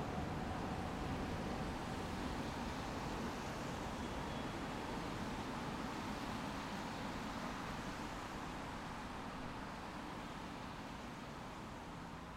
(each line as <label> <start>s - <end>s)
trains 0.0s - 12.3s
water 0.0s - 12.3s